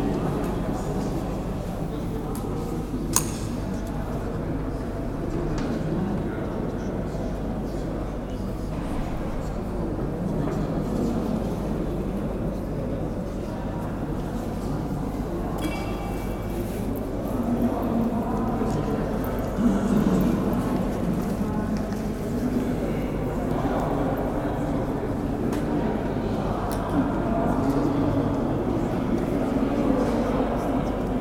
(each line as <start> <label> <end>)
0.0 groups of people stand around, talking 31.2